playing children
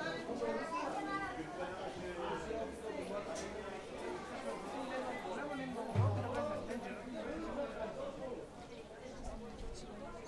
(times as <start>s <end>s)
5.9s 7.8s